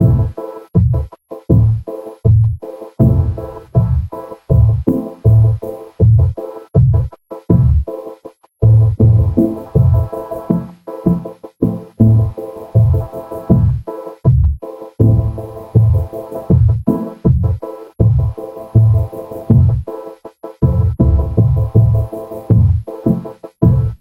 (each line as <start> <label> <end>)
0.0 drumloop 8.0
8.6 drumloop 20.0
20.6 drumloop 24.0